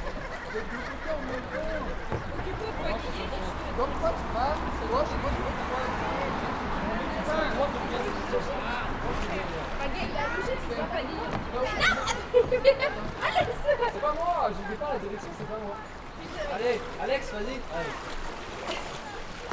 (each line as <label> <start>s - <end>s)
kayaker 0.0s - 19.5s
river 0.0s - 19.5s